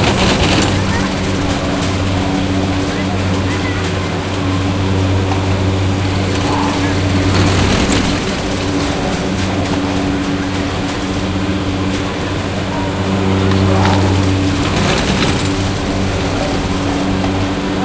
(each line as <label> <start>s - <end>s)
cars passing 0.0s - 17.8s
distant talking 0.0s - 17.8s
mechanical friction noise 0.0s - 17.8s
occasional kids shouting 0.0s - 17.8s